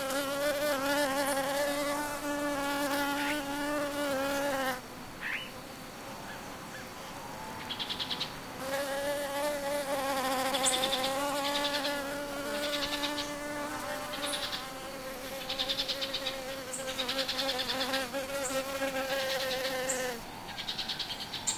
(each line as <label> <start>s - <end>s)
Bees on the grass 0.0s - 21.5s
birds 4.6s - 8.8s
birds 10.5s - 21.5s